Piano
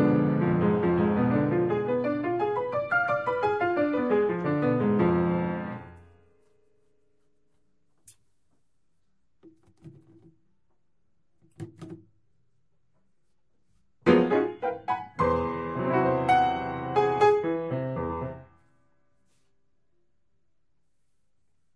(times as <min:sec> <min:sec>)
0:00.0 0:06.5, 0:14.0 0:18.8